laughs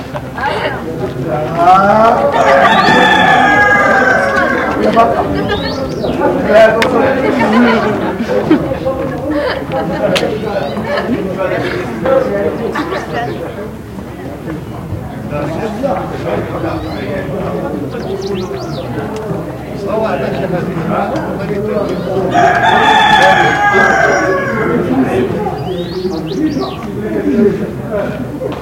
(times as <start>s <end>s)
7.1s 10.0s, 10.7s 13.4s